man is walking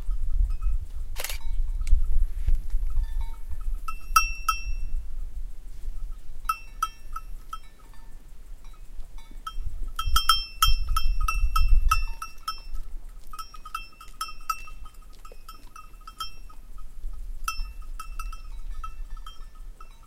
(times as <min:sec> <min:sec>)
0:12.1 0:16.6